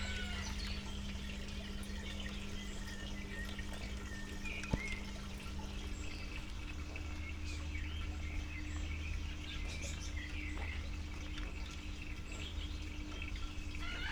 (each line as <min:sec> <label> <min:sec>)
0:00.0 a water pump 0:14.1
0:11.9 pidgeons 0:14.1